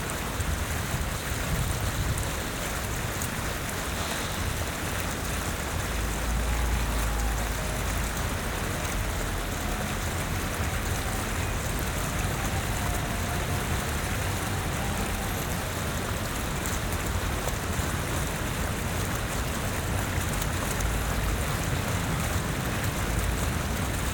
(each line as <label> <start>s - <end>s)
Fountain 0.0s - 24.1s
cars nearby 2.4s - 24.1s
Trams 2.6s - 19.8s